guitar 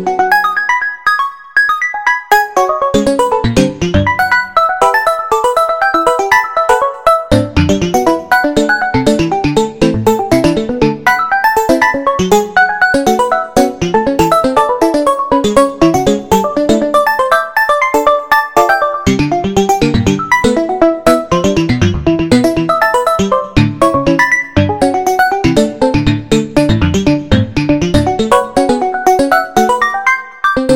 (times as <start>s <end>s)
7.3s 30.7s